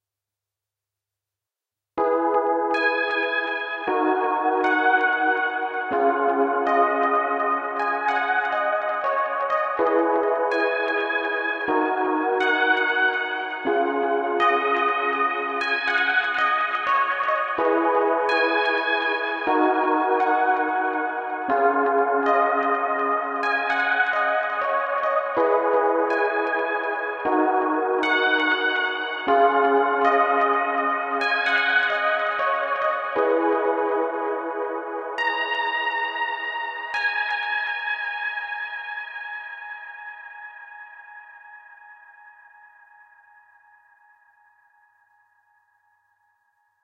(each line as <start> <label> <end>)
2.0 electronic organ 37.0